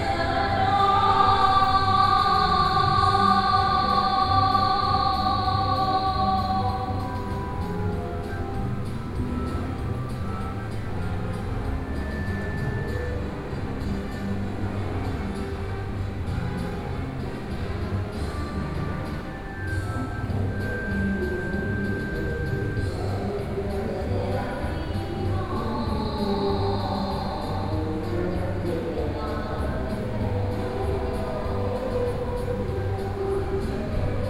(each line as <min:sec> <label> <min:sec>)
0:00.0 Woman is singing 0:08.3
0:19.7 Woman is singing 0:34.2